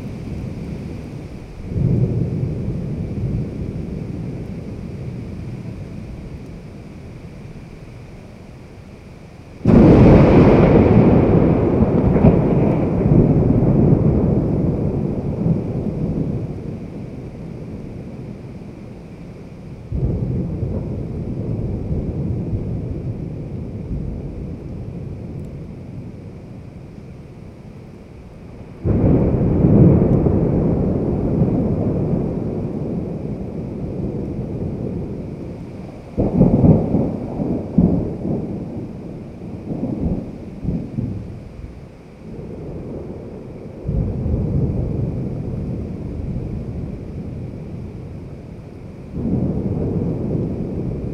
rain 0:00.0 - 0:51.1
Thunder 0:01.6 - 0:05.9
Thunder 0:09.6 - 0:18.4
Thunder 0:19.9 - 0:26.2
Thunder 0:28.8 - 0:51.1

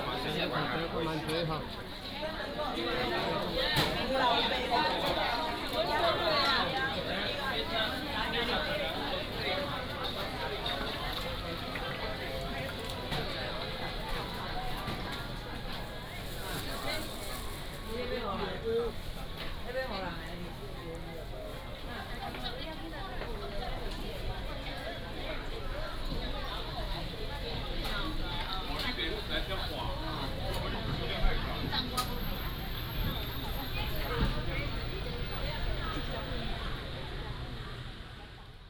Traffic sound 0:21.3 - 0:38.6

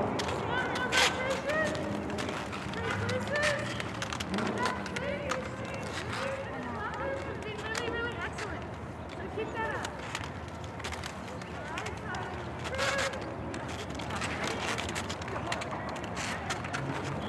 sudden skating stops 0:00.0 - 0:08.6

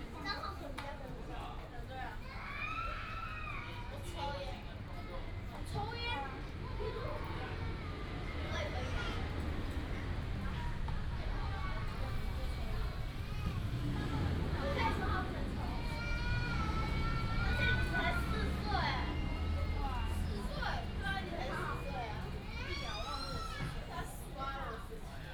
Traffic sound 0:05.9 - 0:25.1

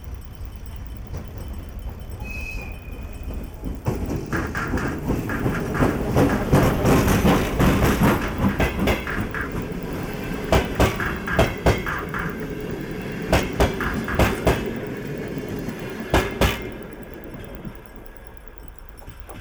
предупреждающий сигнал 0:00.0 - 0:19.4

